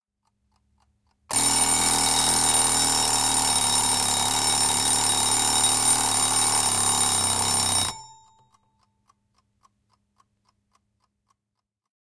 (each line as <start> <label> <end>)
1.3 Alarm clock, mechanical, ringing alarm 8.6